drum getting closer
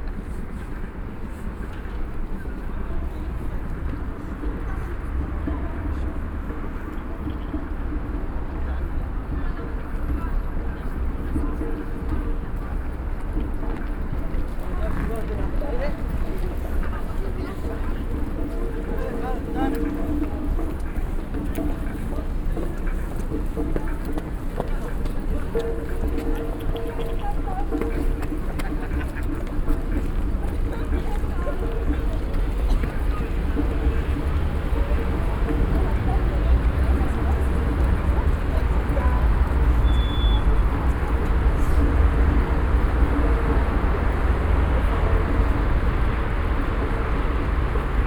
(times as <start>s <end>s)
17.5s 48.0s